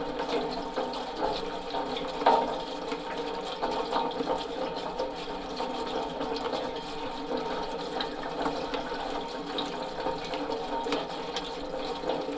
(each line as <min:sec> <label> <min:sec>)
0:00.0 gutter is making strange noises with the rain 0:12.3